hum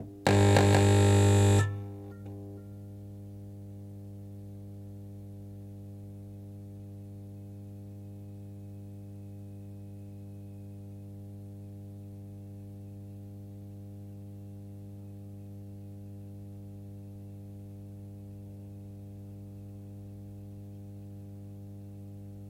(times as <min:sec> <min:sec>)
0:00.0 0:10.7